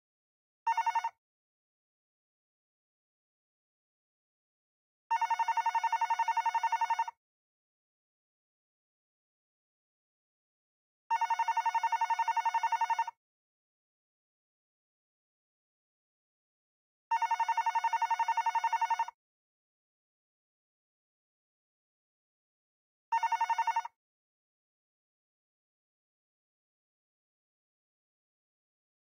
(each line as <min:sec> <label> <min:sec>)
0:00.7 Hotel Phone ring 0:01.2
0:05.1 Hotel Phone ring 0:07.1
0:11.1 Hotel Phone ring 0:13.1
0:17.1 Hotel Phone ring 0:19.1
0:23.1 Hotel Phone ring 0:24.0